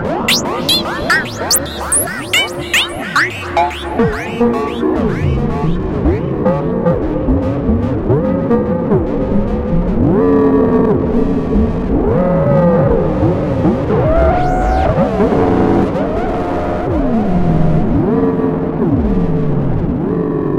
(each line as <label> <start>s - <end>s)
Screaming machine 0.3s - 6.5s